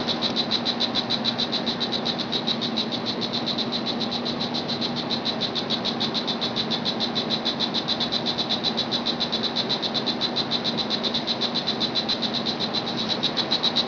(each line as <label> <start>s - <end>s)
Insect sounds 0.0s - 13.8s